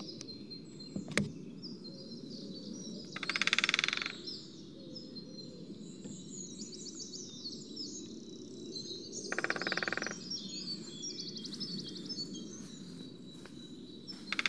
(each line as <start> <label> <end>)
3.2 Greater Spotted Woodpeckers drumming 4.3
9.3 Greater Spotted Woodpeckers drumming 10.8
14.1 Greater Spotted Woodpeckers drumming 14.4